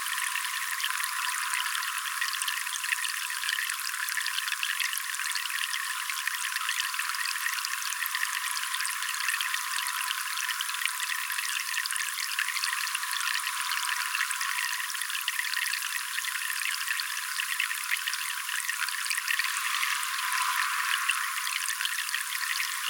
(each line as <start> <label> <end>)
0.0 tap streaming water into a bucket 22.8